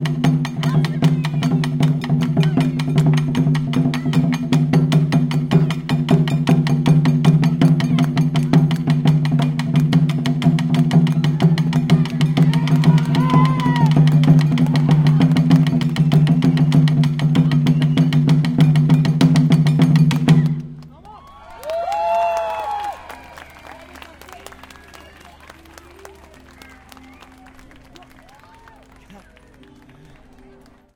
Taiko Drumming 0.0 - 20.8
cheers 11.1 - 15.4
applause 20.8 - 30.9
cheers 21.0 - 30.6

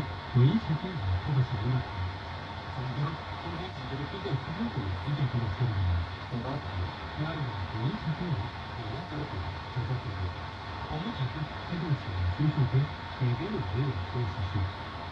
Faint radio broadcast 0.0 - 15.1
signal hiss 0.0 - 15.1

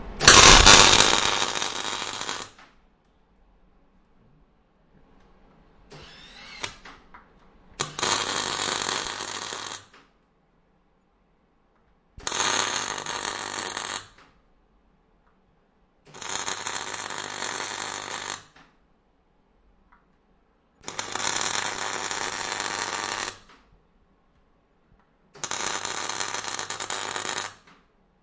electric buzzing, snapping sound 0.2 - 2.7
electric buzzing, snapping sound 5.9 - 7.0
electric buzzing, snapping sound 7.8 - 10.1
electric buzzing, snapping sound 12.2 - 14.3
electric buzzing, snapping sound 25.4 - 27.8

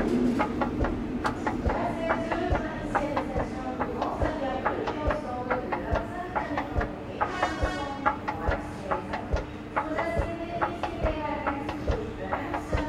Escalator running 0.0 - 12.8

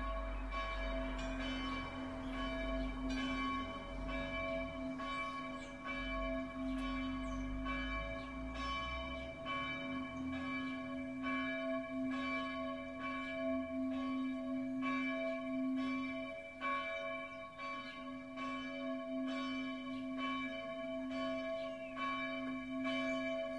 Church bells 0.0 - 23.5

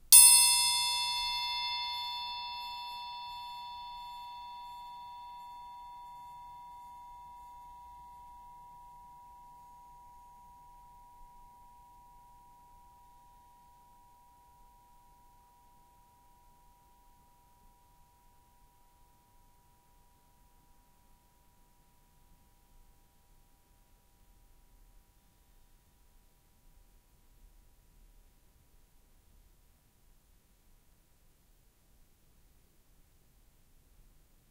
Punch to music triangle 0.2 - 5.8

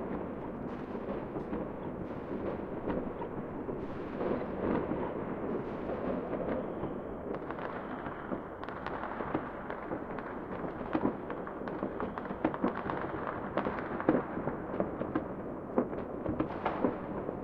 Distant fireworks 0.0 - 17.4

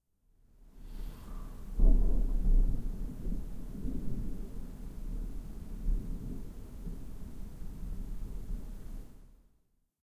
rain 0.7 - 9.4
breath 0.8 - 1.8
thunder 1.2 - 9.0

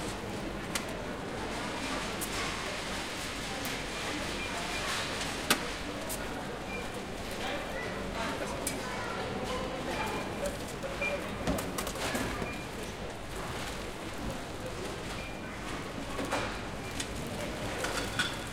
Walking through the shop 0.0 - 18.5
Peoples talks 0.8 - 18.0

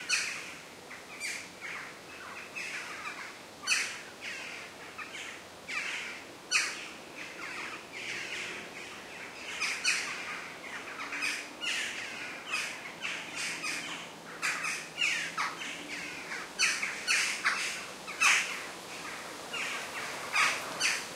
birdsong 0.0 - 21.1

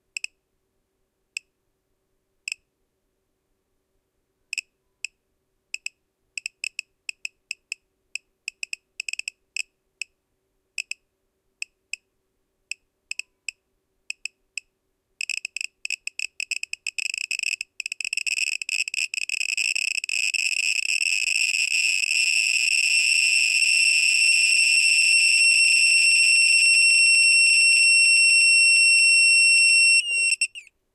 adapter with overvoltage protection, which started beeping 16.4 - 30.7

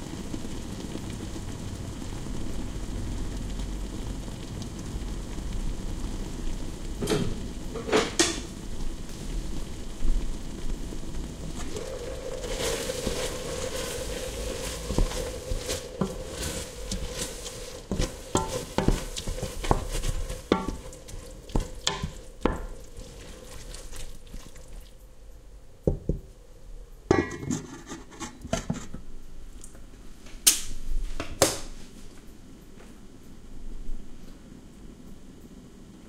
something boiling 0.0 - 36.0
stirring sounds 11.4 - 25.2
stirring sounds 27.1 - 29.7

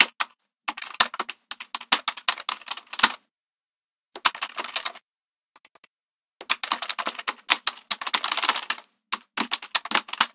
Computer Keyboard 0.0 - 3.2
Computer Keyboard 4.2 - 5.0
Computer Keyboard 5.6 - 10.3

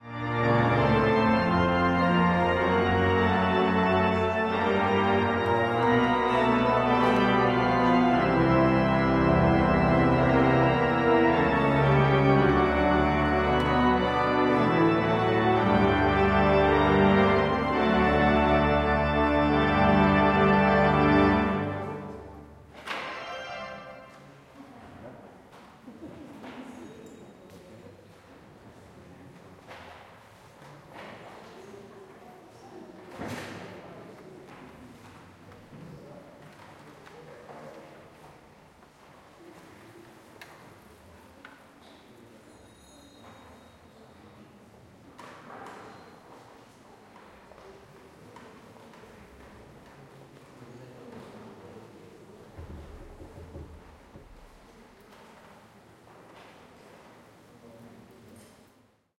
organ playing 0.0 - 24.4
people 0.0 - 58.9

